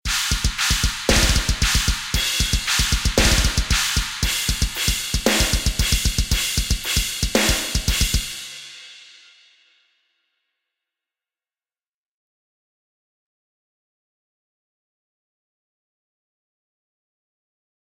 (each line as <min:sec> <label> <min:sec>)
0:00.1 cymbal 0:09.8